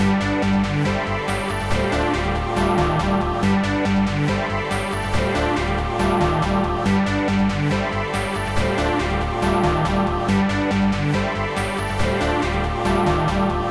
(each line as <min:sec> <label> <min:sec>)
0:00.0 synth 0:13.7